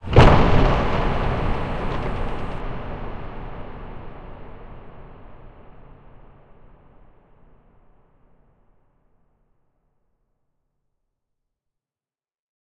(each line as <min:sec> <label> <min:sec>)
0:00.0 debri crash/explosion washed in reverb 0:08.0